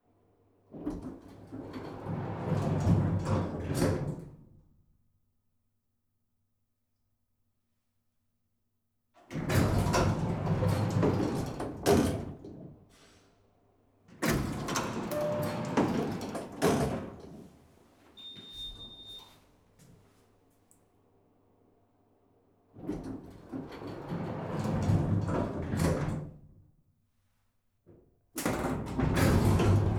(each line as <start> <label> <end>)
0.9 Elevator doors open and close 4.3
9.4 Elevator doors open and close 12.5
14.2 Elevator doors open and close 17.5
18.2 Elevator doors open and close 19.4
22.9 Elevator doors open and close 26.3
28.4 Elevator doors open and close 29.9